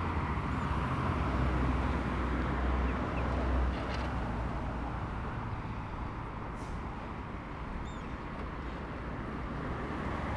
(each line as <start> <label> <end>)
0.0 Traffic 10.3